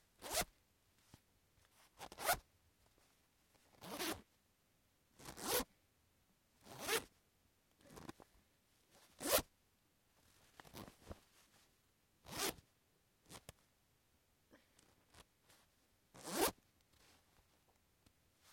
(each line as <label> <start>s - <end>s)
Zipping a bag open and close 2.0s - 2.4s
Zipping a bag open and close 3.8s - 4.2s
Zipping a bag open and close 5.2s - 5.6s
Zipping a bag open and close 6.6s - 7.0s
Zipping a bag open and close 9.2s - 9.5s
Zipping a bag open and close 12.2s - 12.6s
Zipping a bag open and close 16.2s - 16.6s